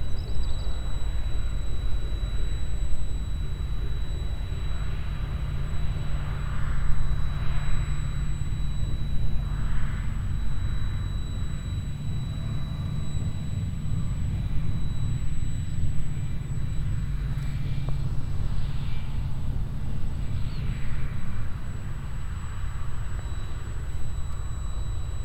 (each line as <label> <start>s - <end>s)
Un avion à moteur traverse le ciel 0.0s - 25.2s
steady sound of a inside generator 0.0s - 25.2s